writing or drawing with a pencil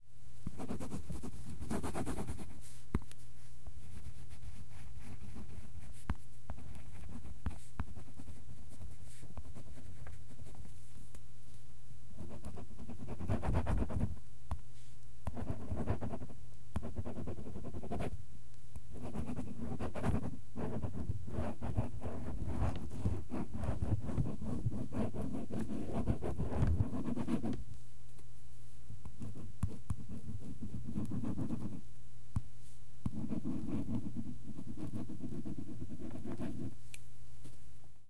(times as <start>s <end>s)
0.5s 2.6s, 12.2s 14.1s, 15.3s 18.1s, 19.0s 27.6s, 29.2s 31.8s, 33.1s 36.7s